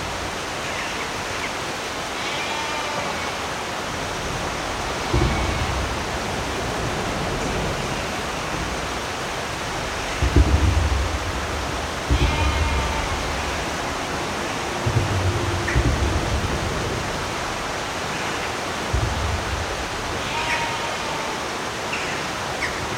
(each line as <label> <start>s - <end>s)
beck flowing nearby 0.0s - 22.9s
drips falling down 5.0s - 20.6s